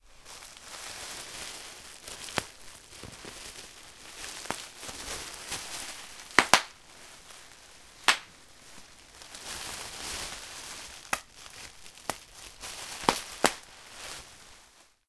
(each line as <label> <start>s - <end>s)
popping the bubbles 6.3s - 6.7s
popping the bubbles 8.1s - 8.3s